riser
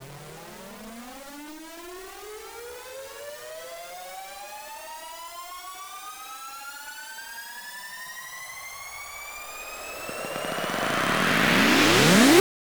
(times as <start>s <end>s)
8.4s 12.4s